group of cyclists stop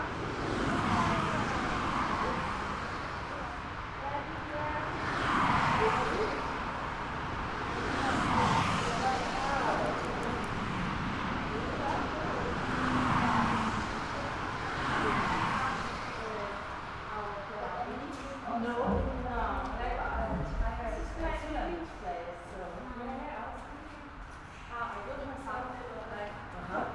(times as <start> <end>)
5.0 17.1